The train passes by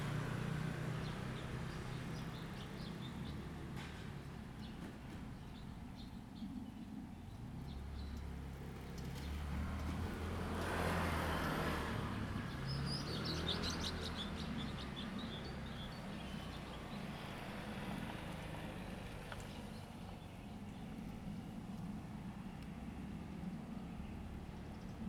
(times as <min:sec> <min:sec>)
0:00.0 0:06.0, 0:10.4 0:20.6